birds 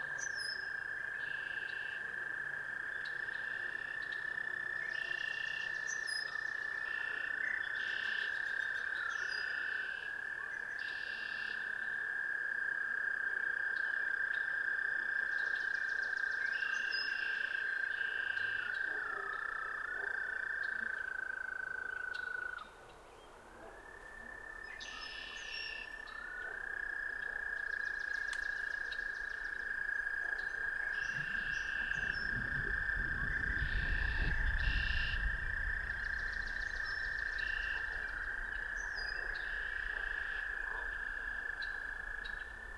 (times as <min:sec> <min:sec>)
0:21.8 0:42.7